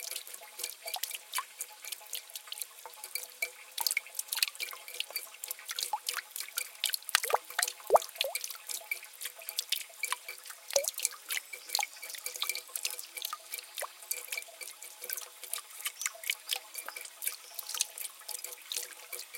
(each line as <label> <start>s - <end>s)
Medium Speed, Irregular Dropping Water 0.0s - 19.3s